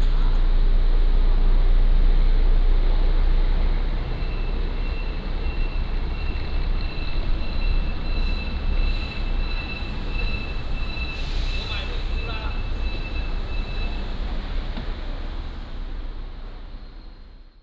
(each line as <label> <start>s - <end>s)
Whistling 4.2s - 14.2s